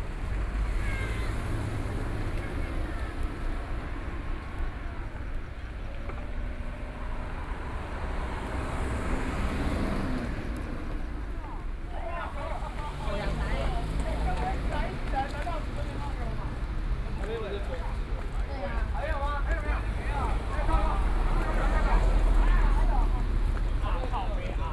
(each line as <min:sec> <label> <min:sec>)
0:00.0 walking in the street 0:24.7